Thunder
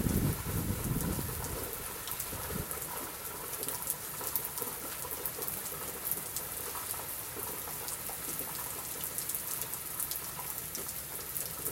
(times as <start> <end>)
0.0 1.4